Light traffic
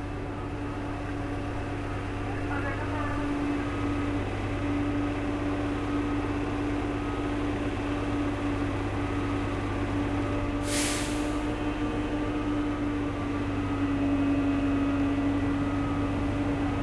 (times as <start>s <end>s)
0.0s 10.6s